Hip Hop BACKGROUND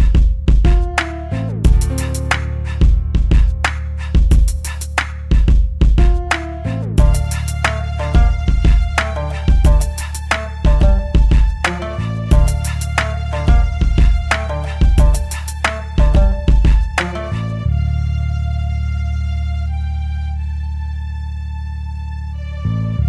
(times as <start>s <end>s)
0.0s 17.7s